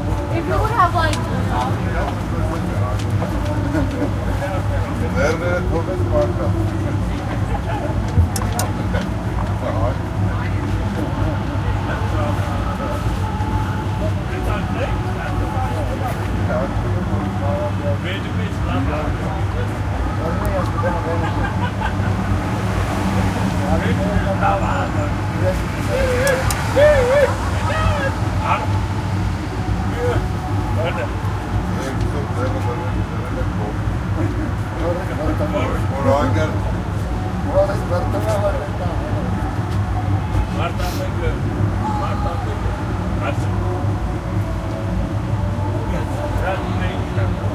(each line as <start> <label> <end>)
0.0 traffic driving by 47.5